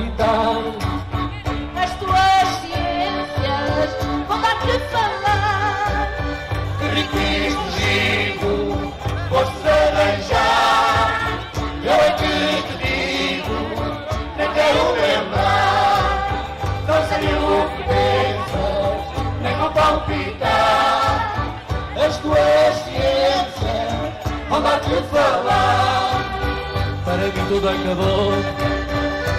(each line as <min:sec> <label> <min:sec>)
0:00.0 Folk band 0:29.3